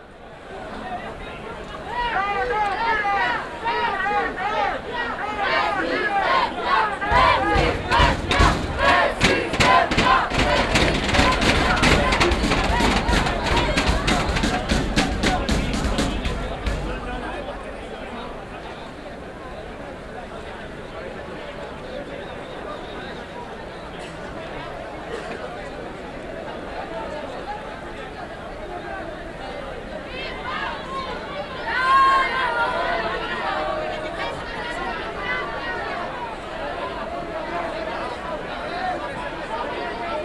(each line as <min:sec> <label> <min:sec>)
0:00.0 youths block the gate of the metro station 0:21.0
0:23.0 youths block the gate of the metro station 0:40.2